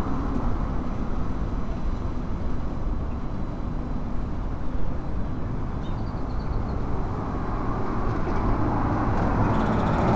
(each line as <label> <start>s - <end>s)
Traffic 7.1s - 10.1s